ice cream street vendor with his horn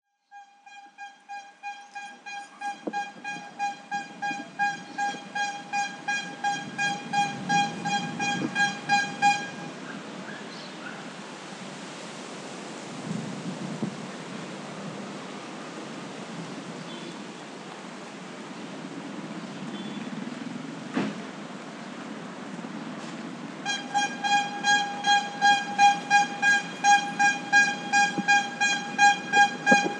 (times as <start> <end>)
0.3 10.4, 23.6 29.9